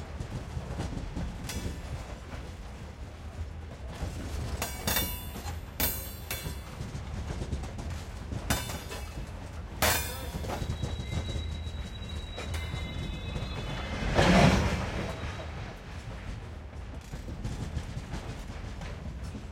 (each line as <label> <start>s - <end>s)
freight train at low speed passes 0.0s - 19.5s